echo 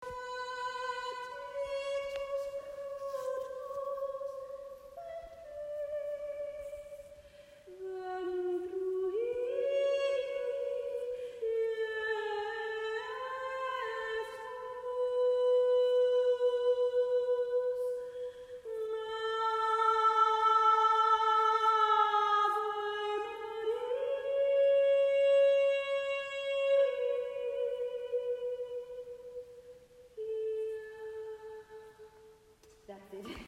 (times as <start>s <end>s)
19.4s 33.4s